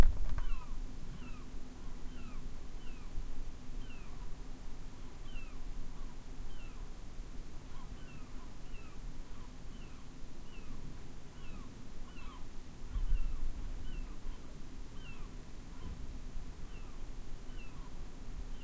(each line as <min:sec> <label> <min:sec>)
0:00.0 ocean 0:18.6
0:00.3 seagulls 0:01.5
0:07.7 seagulls 0:16.0
0:16.7 seagulls 0:17.9